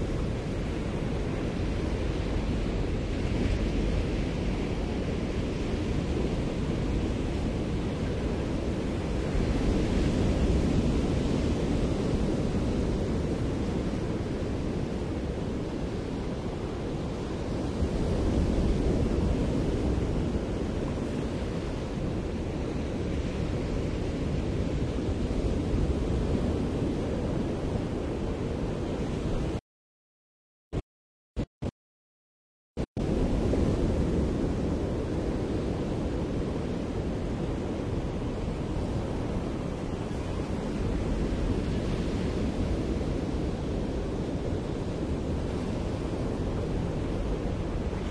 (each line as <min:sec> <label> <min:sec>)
0:00.0 waves 0:29.6
0:32.9 waves 0:48.1